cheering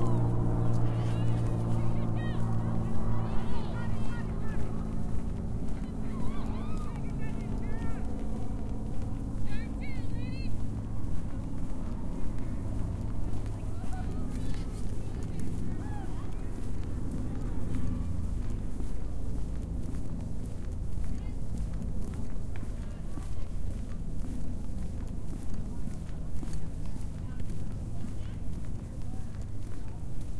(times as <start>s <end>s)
6.1s 7.1s